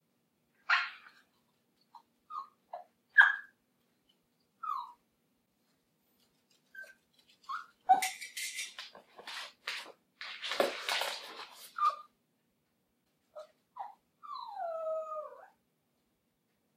chihuahua puppy whining 1.8 - 3.6
chihuahua puppy whining 4.5 - 5.1
chihuahua puppy whining 6.6 - 8.2
chihuahua puppy whining 11.7 - 12.2
chihuahua puppy whining 13.3 - 15.7

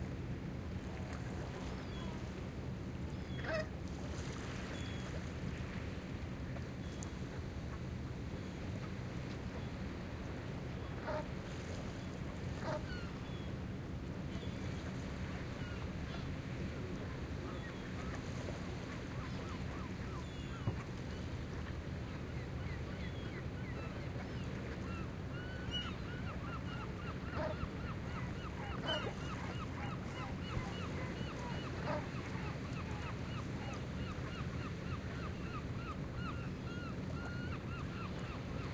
calm WAVES 0.0 - 38.7
SEAGULLS 1.4 - 2.2
SEAGULLS 3.1 - 3.7
SEAGULLS 12.5 - 13.5
DUCKS 12.6 - 13.0
SEAGULLS 14.4 - 16.4
SEAGULLS 17.0 - 38.7
DUCKS 26.5 - 33.2

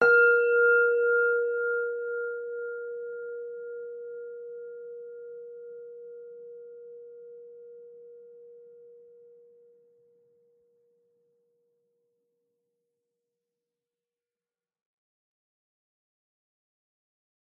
small bell 0.0 - 9.8

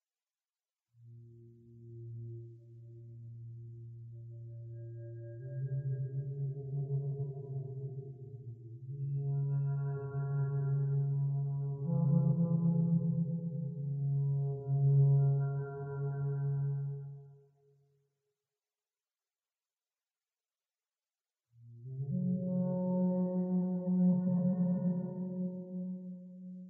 duduk 22.0 - 26.6

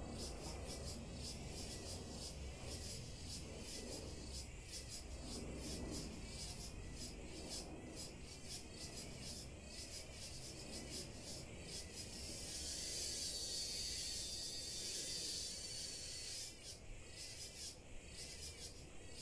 cicadas 0.0 - 19.2

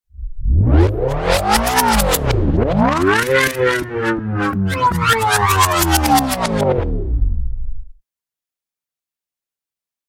engine powering up and powering down 0.1 - 8.0

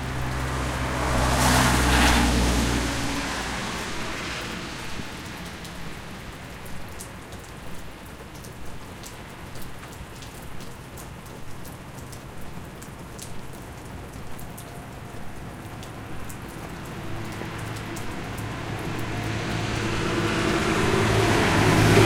light rain storm 0.0 - 22.0
vehicles occasionally passing by 0.0 - 22.0

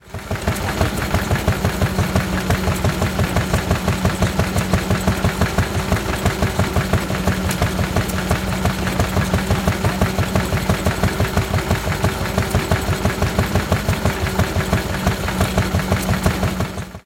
Stationary Petrol-Gas-Engine 0.0 - 17.0

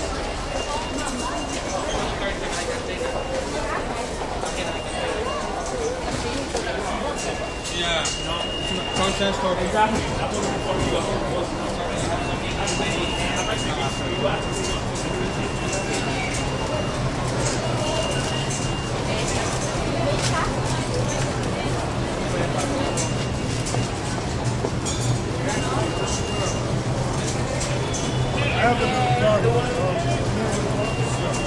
subway turnstyles busy 0.0 - 31.4

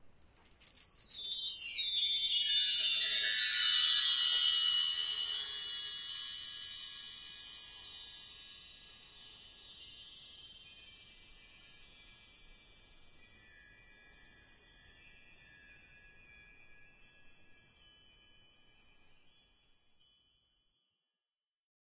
orchestral bar chimes 1.6 - 9.7

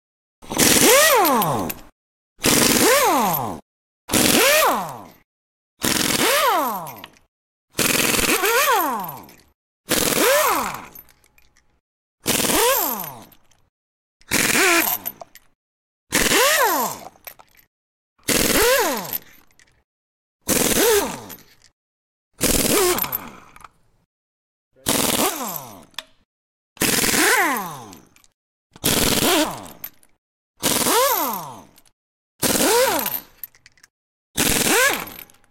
air gun 2.4 - 3.2
air gun 5.8 - 6.6
air gun 7.8 - 8.7
air gun 9.9 - 10.7
air gun 12.3 - 13.0
air gun 14.3 - 15.0
air gun 18.3 - 19.0
air gun 24.8 - 25.6
air gun 26.8 - 27.6
air gun 28.8 - 29.6
air gun 30.6 - 31.3
air gun 32.4 - 33.1
air gun 34.4 - 35.2

